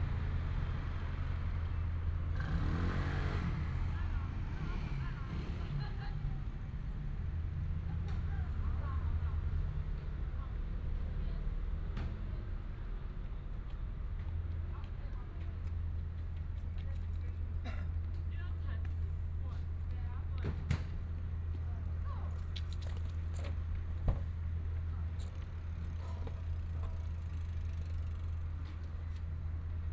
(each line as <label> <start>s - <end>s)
Traffic sound 0.0s - 29.9s